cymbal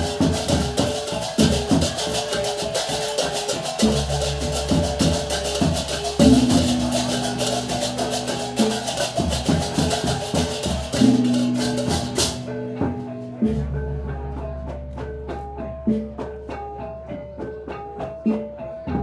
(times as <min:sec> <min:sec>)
0:00.0 0:13.6